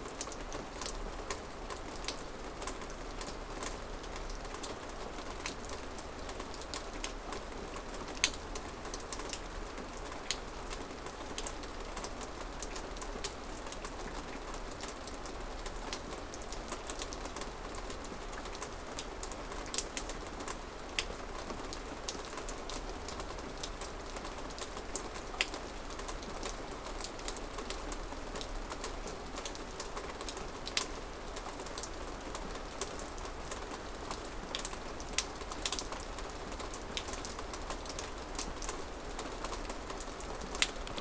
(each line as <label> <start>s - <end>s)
Rain 0.0s - 41.0s